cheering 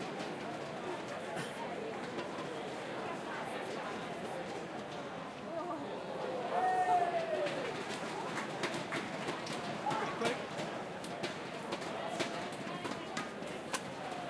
6.1s 10.4s

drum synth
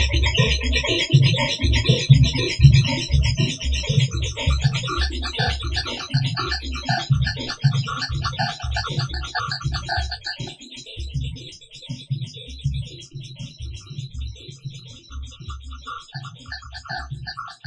0.0s 11.3s

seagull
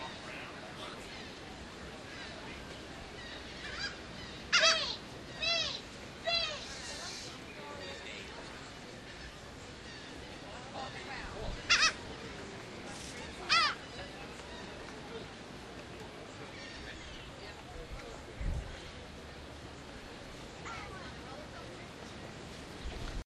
3.6s 6.8s, 11.6s 12.0s, 13.4s 13.9s

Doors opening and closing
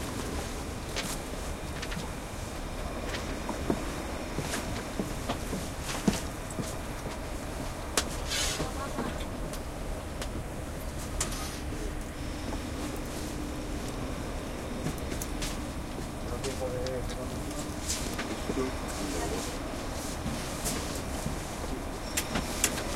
22.0s 22.9s

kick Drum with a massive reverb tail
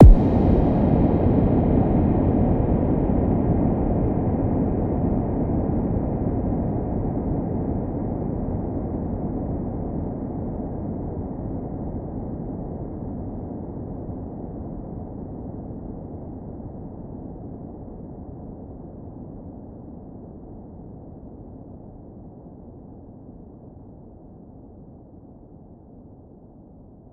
0.0s 1.0s

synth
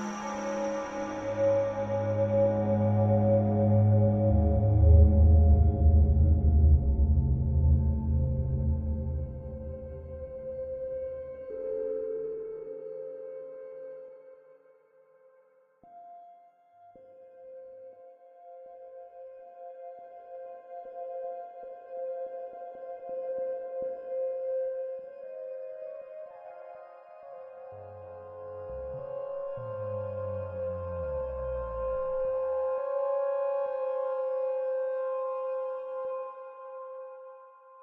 27.6s 34.7s

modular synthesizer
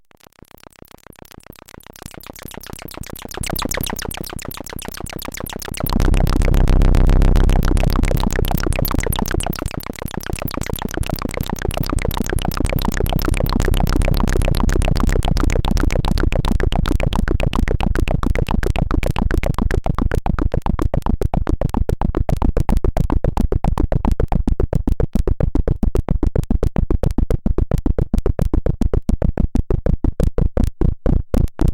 1.1s 19.4s

